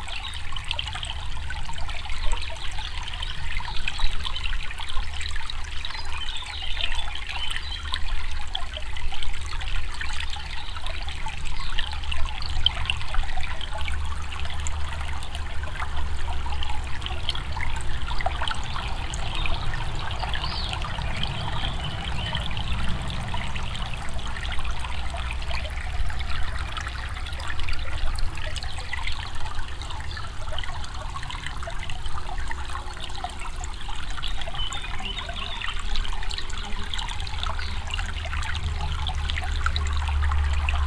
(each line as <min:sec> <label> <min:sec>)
0:00.0 small stream 0:40.8
0:17.4 passing traffic 0:27.3